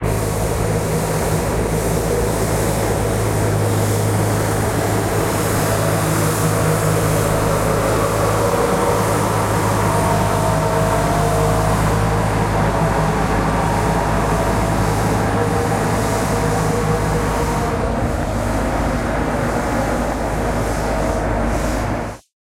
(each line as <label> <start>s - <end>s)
Street sweeper 0.0s - 22.3s